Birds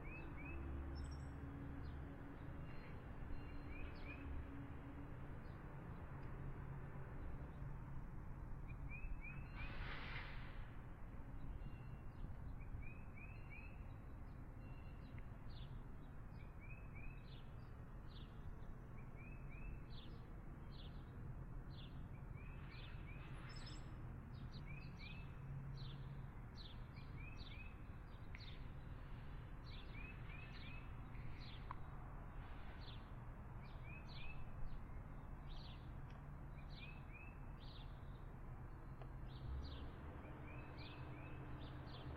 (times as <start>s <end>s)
8.6s 38.4s